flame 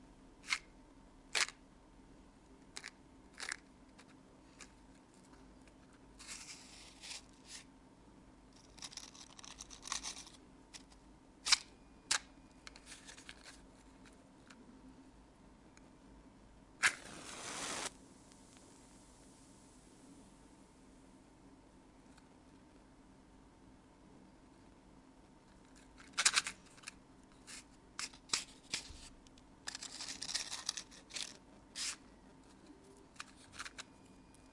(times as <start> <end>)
16.8 20.0